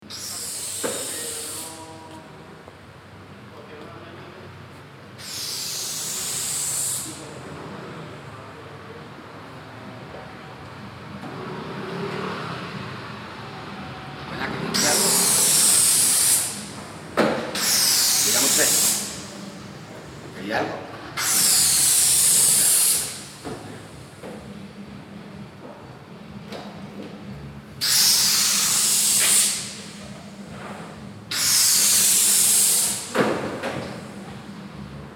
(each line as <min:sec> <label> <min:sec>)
0:00.1 balloons being filled with helium gas 0:01.8
0:05.2 balloons being filled with helium gas 0:07.2
0:14.8 balloons being filled with helium gas 0:16.7
0:17.6 balloons being filled with helium gas 0:19.2
0:21.2 balloons being filled with helium gas 0:23.3
0:27.8 balloons being filled with helium gas 0:29.8
0:31.3 balloons being filled with helium gas 0:33.1